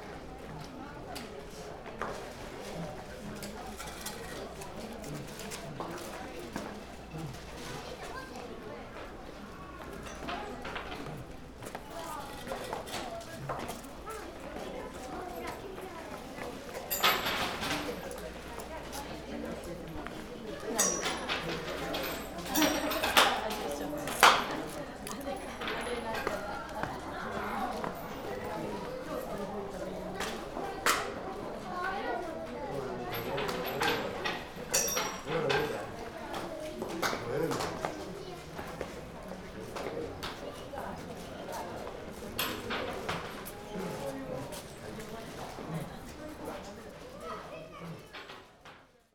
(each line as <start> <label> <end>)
17.8 person walks up to the entrance 32.7